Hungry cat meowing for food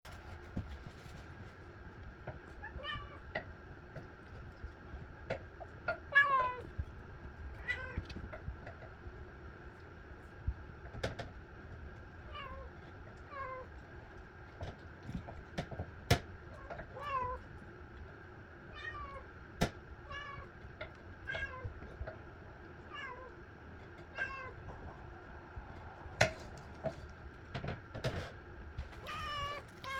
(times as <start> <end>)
29.0 29.9